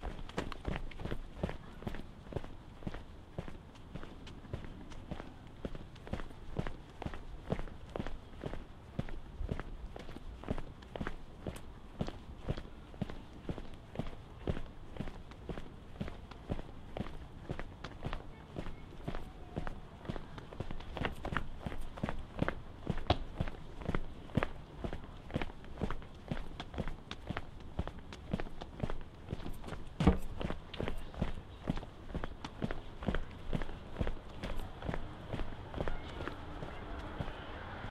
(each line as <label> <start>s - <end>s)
man in rubber soled shoes walking down the city sidewalk 0.0s - 37.9s